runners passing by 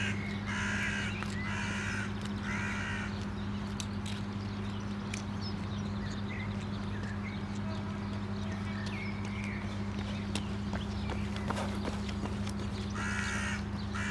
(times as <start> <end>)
8.0 14.1